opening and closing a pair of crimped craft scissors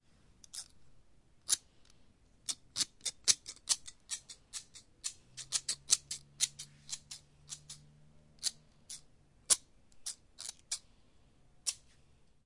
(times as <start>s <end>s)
0.4s 0.8s, 1.4s 1.6s, 2.4s 10.8s, 11.6s 11.8s